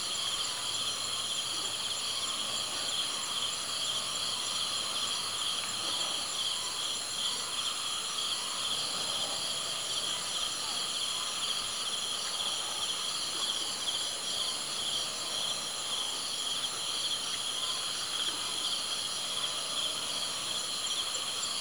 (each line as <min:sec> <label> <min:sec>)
0:00.0 #Cricket 0:21.6